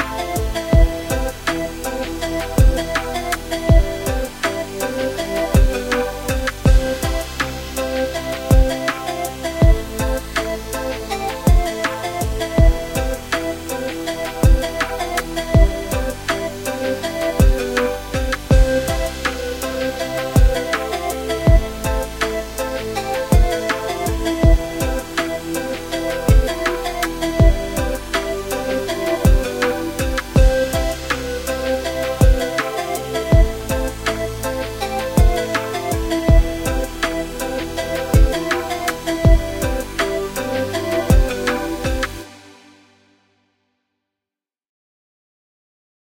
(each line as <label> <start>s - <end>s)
happy lil song 0.0s - 42.7s